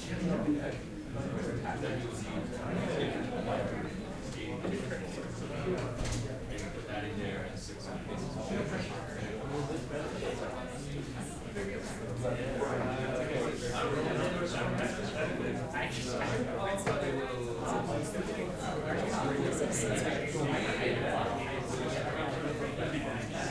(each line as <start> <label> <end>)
0.0 people talking 23.5